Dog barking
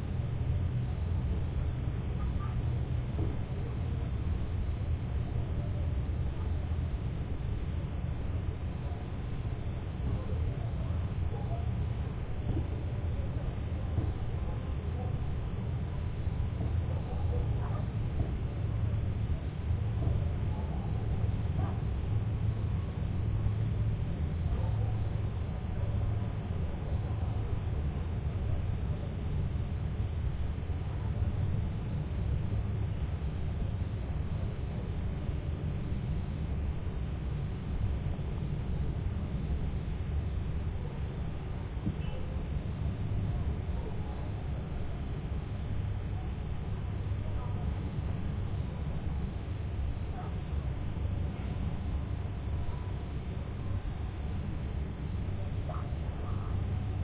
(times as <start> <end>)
16.9 17.9, 21.6 21.8, 55.7 56.5